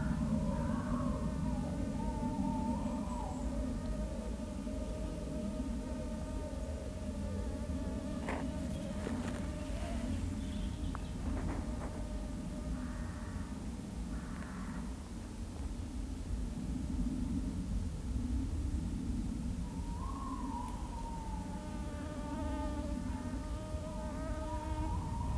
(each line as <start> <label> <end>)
0.0 crows crow in the tree tops 3.9
0.0 Tawny owl 3.9
0.0 Planes are always overhead 25.3
8.2 Walking back 12.2
11.9 crows crow in the tree tops 15.0
19.7 Tawny owl 22.6